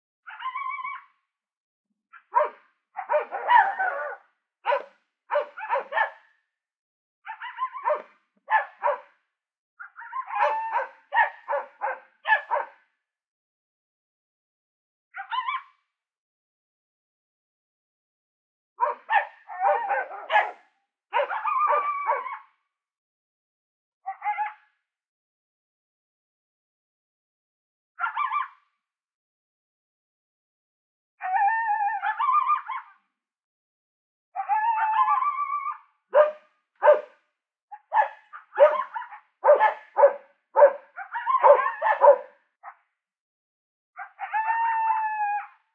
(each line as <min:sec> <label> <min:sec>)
0:00.3 fairly close barking coyote 0:01.1
0:02.1 fairly close barking coyote 0:06.4
0:02.2 barking ranch dogs 0:06.2
0:07.2 fairly close barking coyote 0:09.2
0:07.3 barking ranch dogs 0:09.1
0:09.8 fairly close barking coyote 0:12.9
0:09.9 barking ranch dogs 0:12.8
0:15.2 fairly close barking coyote 0:15.8
0:18.8 barking ranch dogs 0:20.6
0:18.8 fairly close barking coyote 0:22.6
0:21.2 barking ranch dogs 0:22.4
0:24.0 fairly close barking coyote 0:24.7
0:28.0 fairly close barking coyote 0:28.7
0:31.2 fairly close barking coyote 0:33.0
0:34.4 fairly close barking coyote 0:42.8
0:36.1 barking ranch dogs 0:37.2
0:37.8 barking ranch dogs 0:42.8
0:44.0 fairly close barking coyote 0:45.0